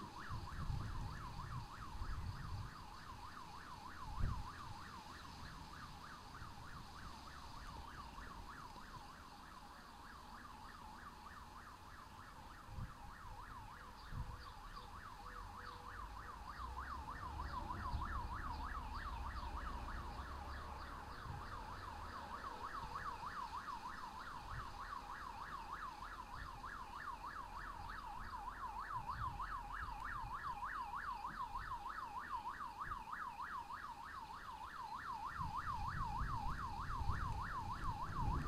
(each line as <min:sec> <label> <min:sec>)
0:36.4 thunder 0:38.4